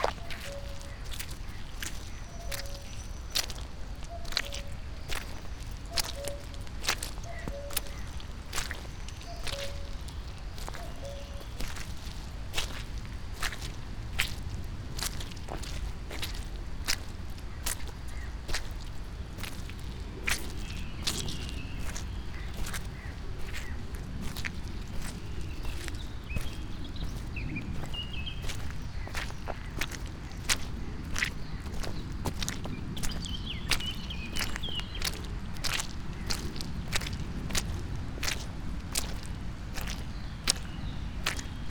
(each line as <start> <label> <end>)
0.0 mud walk 41.7
5.9 cuckoo 6.6